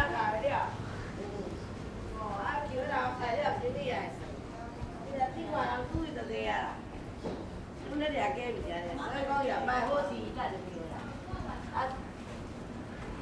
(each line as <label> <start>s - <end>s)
Walking in the alley 0.0s - 13.2s